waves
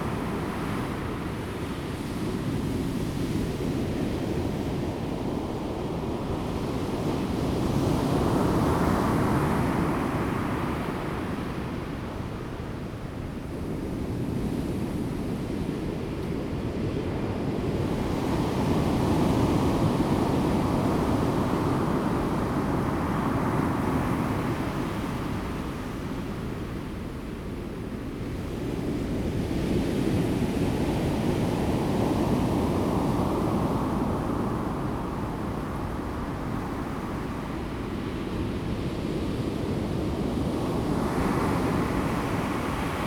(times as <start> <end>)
28.8 43.0